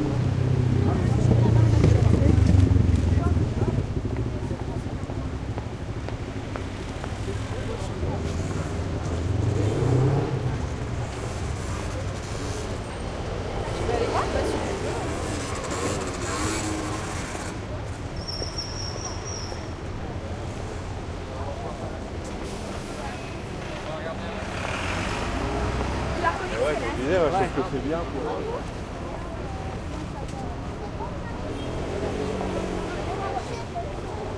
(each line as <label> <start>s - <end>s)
cars 0.0s - 34.3s
motorbike 0.0s - 34.3s
scooters 13.8s - 18.5s